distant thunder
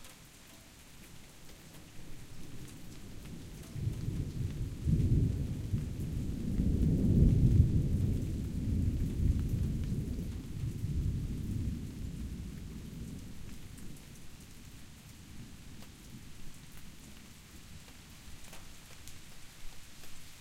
2.5 14.2

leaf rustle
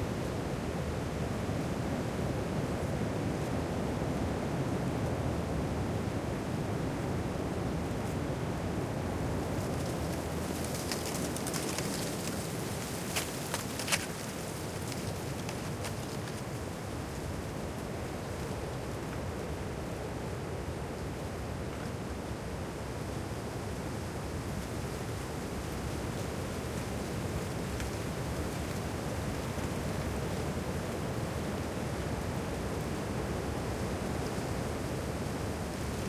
7.8 20.0, 22.9 36.0

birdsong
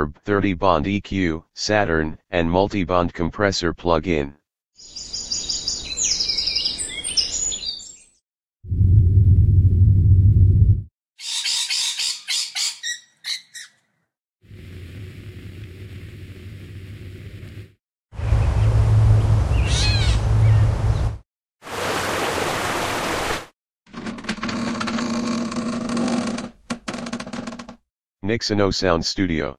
4.8 8.2, 11.2 13.9, 18.2 21.1

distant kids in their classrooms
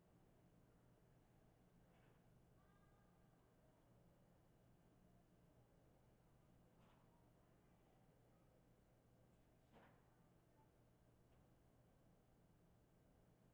2.0 4.2

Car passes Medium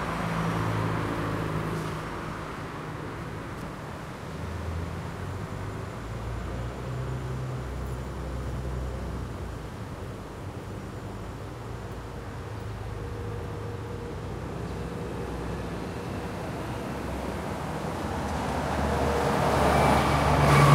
17.6 20.7

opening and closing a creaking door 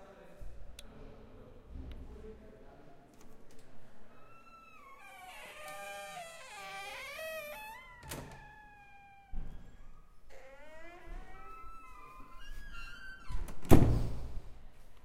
4.1 14.3

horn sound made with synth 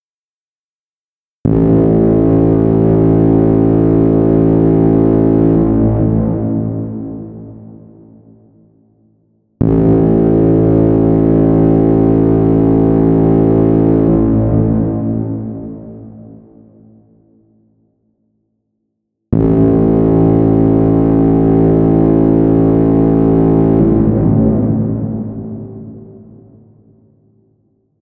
9.6 15.8, 19.3 26.5

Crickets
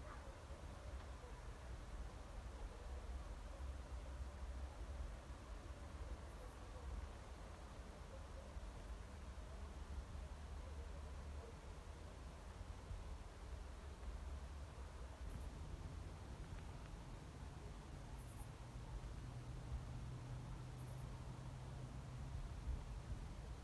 18.0 18.6, 20.7 21.3

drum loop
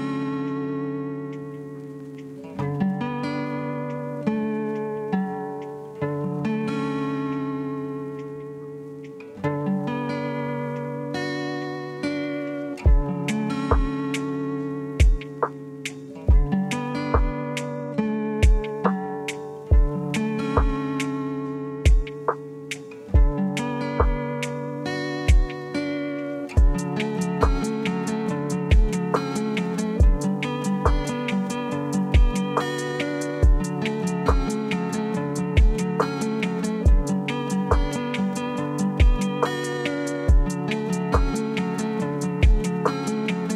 12.8 21.2, 21.8 25.8, 26.5 43.5

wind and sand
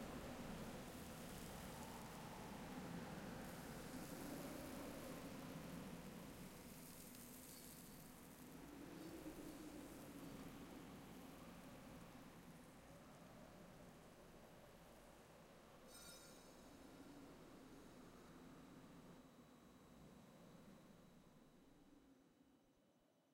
0.0 15.8

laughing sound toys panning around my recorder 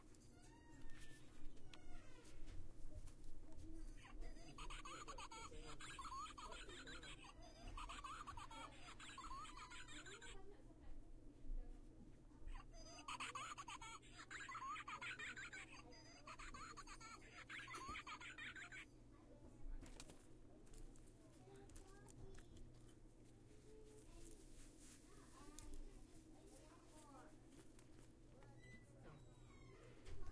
3.8 10.4, 12.5 18.9

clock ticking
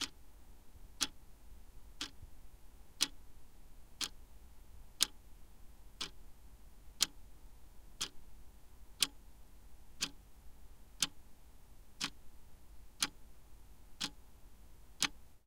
3.0 3.2, 9.0 9.2, 10.0 10.2, 13.0 13.2, 14.0 14.2

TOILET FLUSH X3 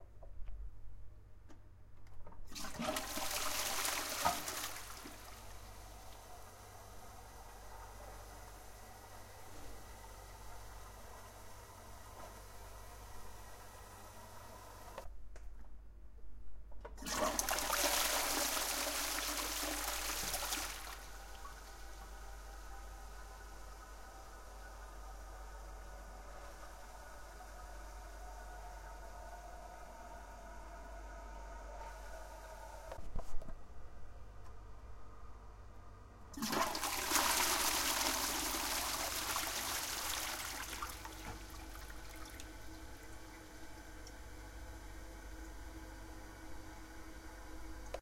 2.5 6.3, 17.0 22.4, 36.4 44.2

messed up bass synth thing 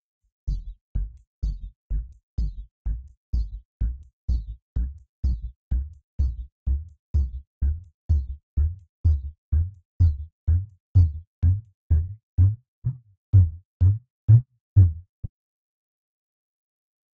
7.6 15.0

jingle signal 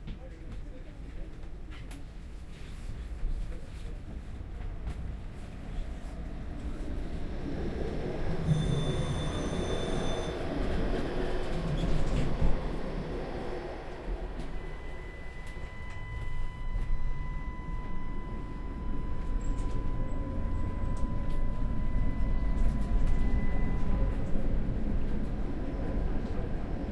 8.4 10.4

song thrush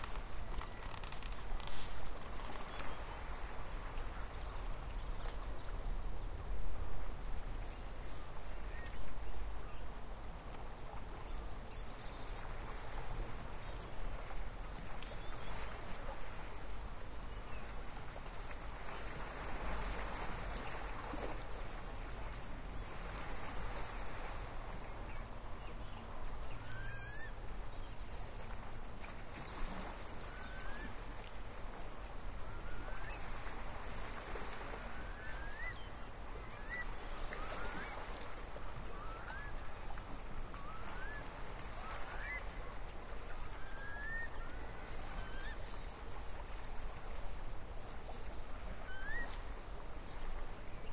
24.8 28.2, 29.4 31.4, 34.7 38.2, 38.8 42.8, 43.4 47.2, 48.1 49.5

